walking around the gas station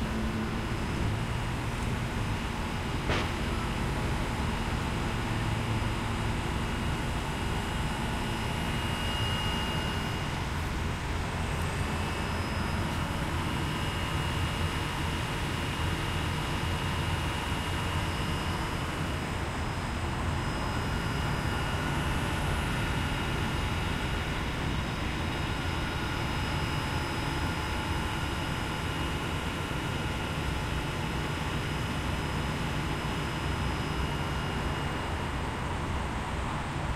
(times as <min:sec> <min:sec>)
0:00.0 0:06.8